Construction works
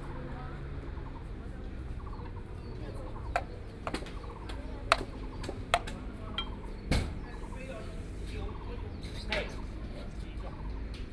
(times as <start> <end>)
2.3 8.1